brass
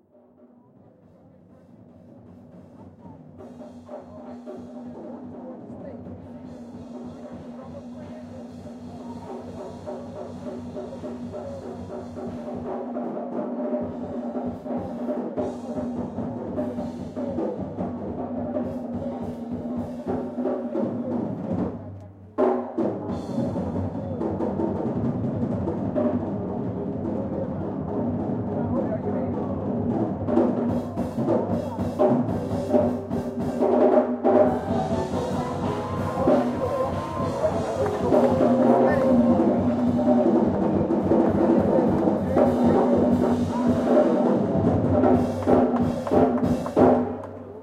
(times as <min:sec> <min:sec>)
0:33.0 0:40.7